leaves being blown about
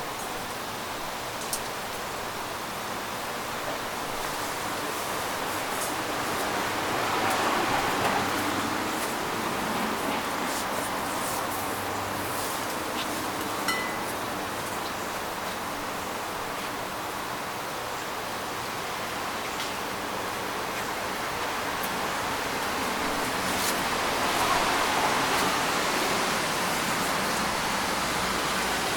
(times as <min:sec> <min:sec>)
0:22.8 0:27.9